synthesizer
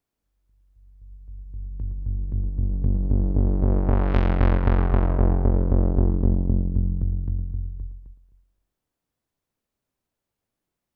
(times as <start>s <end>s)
0.8s 8.3s